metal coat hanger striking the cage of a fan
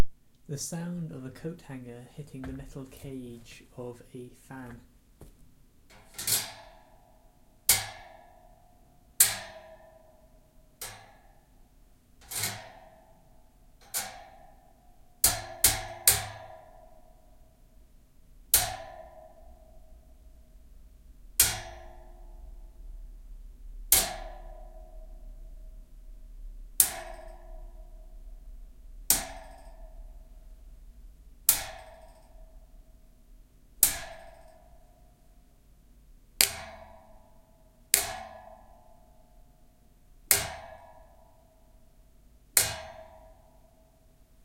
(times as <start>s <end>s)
5.9s 7.0s, 7.7s 8.6s, 9.2s 10.0s, 10.8s 11.4s, 12.2s 13.2s, 13.8s 17.3s, 18.5s 20.2s, 21.4s 23.0s, 23.8s 25.9s, 26.7s 30.8s, 31.4s 33.1s, 33.8s 35.3s, 36.4s 39.3s, 40.3s 41.5s, 42.6s 43.5s